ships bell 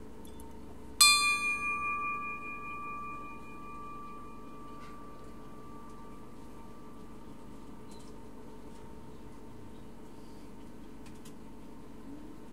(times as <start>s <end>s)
1.0s 7.9s